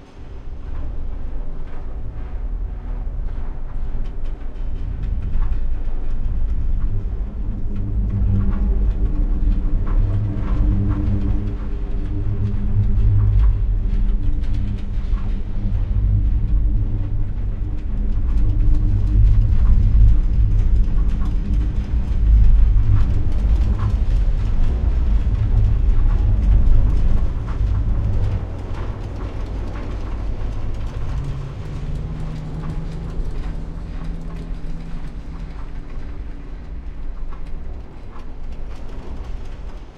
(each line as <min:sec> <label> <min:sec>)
0:15.0 Machinery 0:39.9